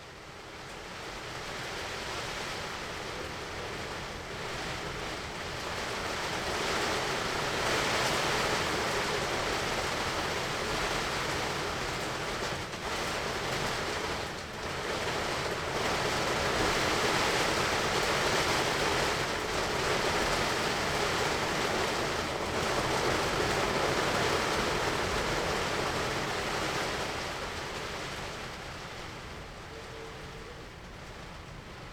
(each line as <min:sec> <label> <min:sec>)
0:00.0 rain hits the tarp 0:31.9